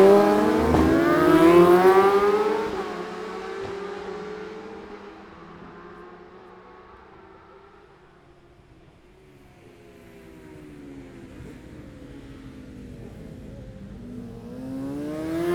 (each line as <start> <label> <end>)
0.0 Motorcycle Road Racing 15.5